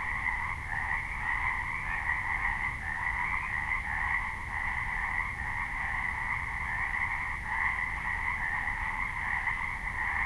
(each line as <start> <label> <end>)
0.0 Pacific tree frogs 10.2
0.0 wind in nearby trees 10.2